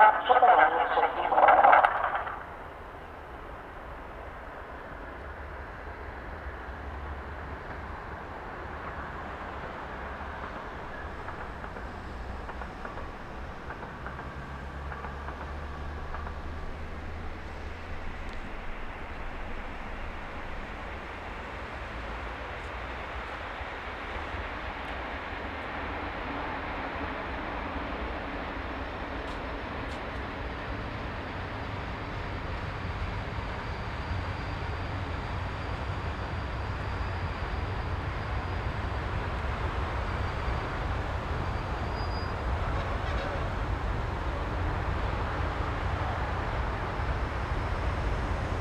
Train announcement 0:00.0 - 0:03.9
Train arrival, departure 0:00.0 - 0:48.6
cargo train is passing by 0:00.0 - 0:48.6
Train announcement 0:08.5 - 0:47.3

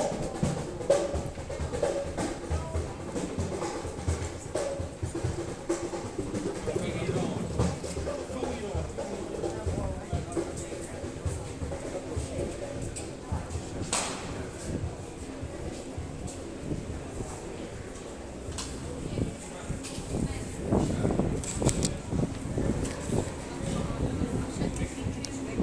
drummer busking 0:00.0 - 0:13.9
People coming and going 0:00.0 - 0:25.6
drummer busking 0:18.8 - 0:25.6

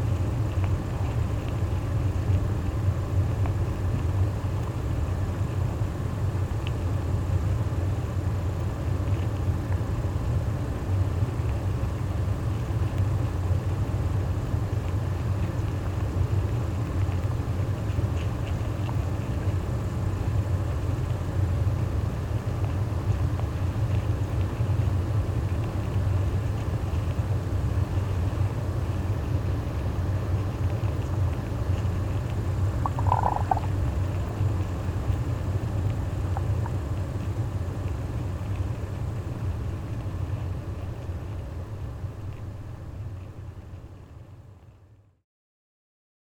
ant nest 0:27.8 - 0:42.0

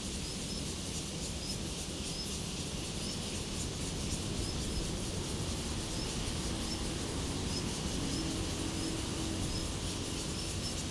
Cicadas sound 0:02.6 - 0:10.8

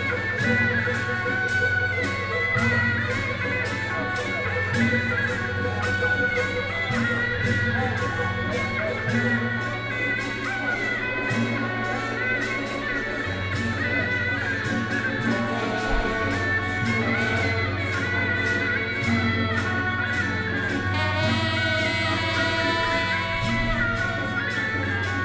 Traditional temple festivals 0:00.0 - 0:25.2

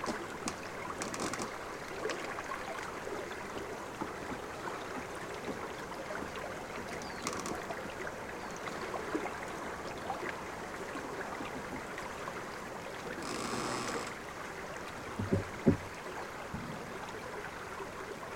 river Savasa 0:00.0 - 0:18.3

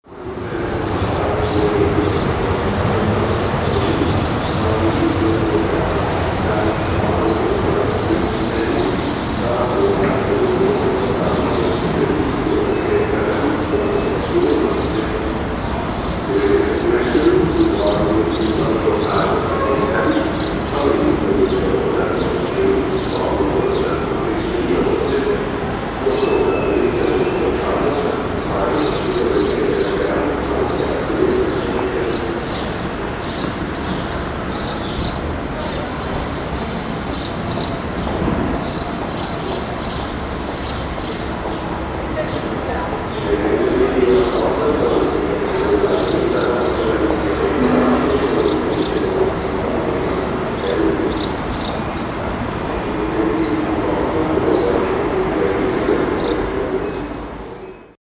sparrows 0:00.3 - 0:05.8
sparrows 0:06.5 - 0:58.0

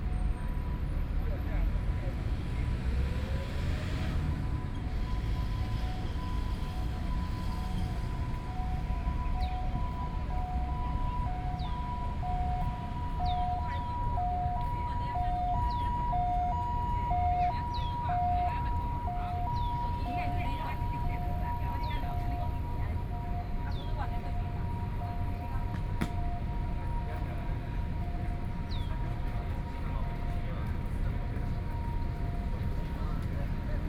Traffic Sound 0:00.0 - 0:33.8

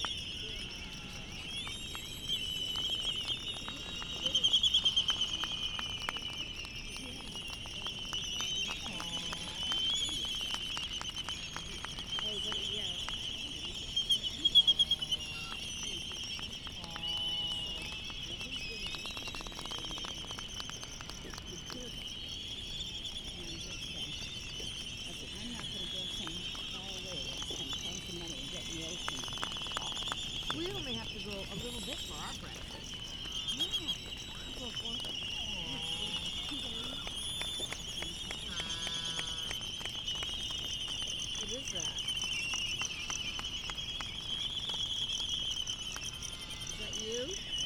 cricket 0:00.0 - 0:47.6
distant black-footed albatross 0:00.0 - 0:47.6
white tern 0:00.1 - 0:47.6
bird call from Laysan albatross 0:38.2 - 0:39.6

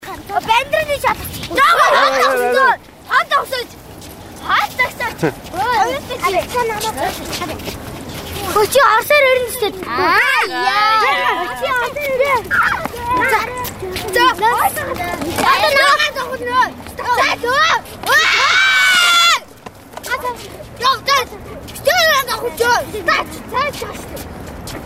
children 0:00.0 - 0:24.8

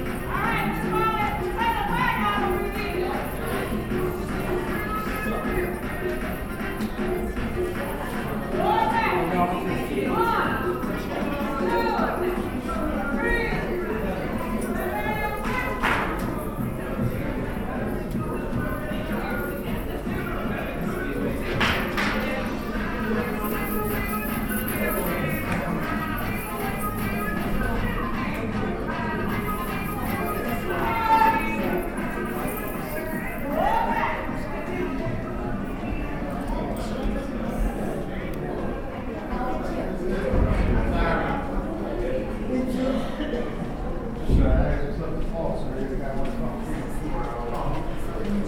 belly dancing class 0:00.0 - 0:48.4

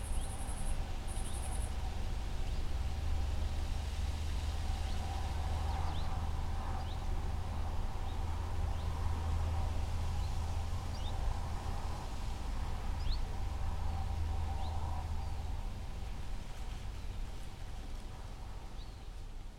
echoes of traffic 0:00.0 - 0:19.5
winds 0:00.0 - 0:19.5

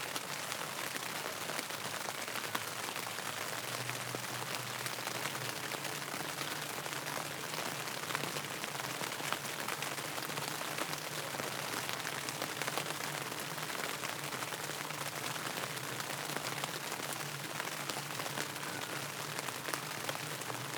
Rain under the tent canopy 0:00.0 - 0:20.7

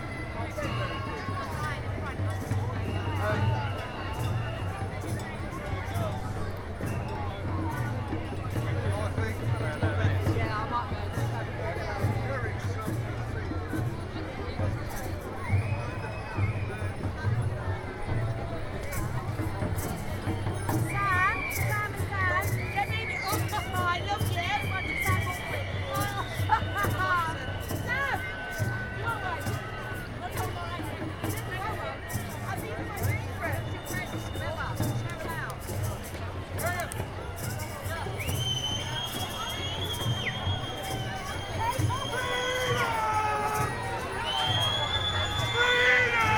anti-lockdown freedom march 0:00.0 - 0:46.3

